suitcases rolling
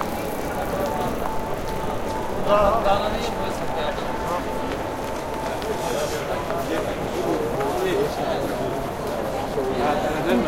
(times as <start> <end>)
0.0 6.7